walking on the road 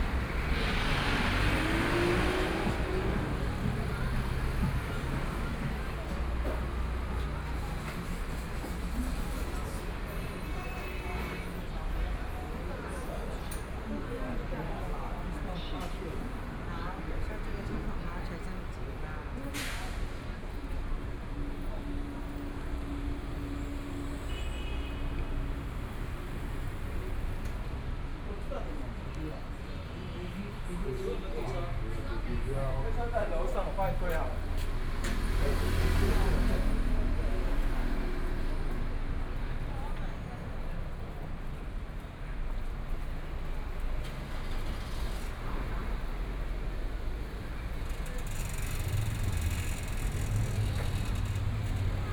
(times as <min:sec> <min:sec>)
0:00.0 0:10.1, 0:25.2 0:52.1